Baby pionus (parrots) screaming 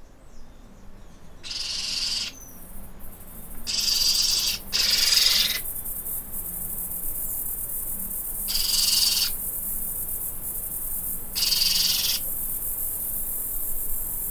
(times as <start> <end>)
1.5 2.4, 3.7 5.6, 8.5 9.4, 11.4 12.3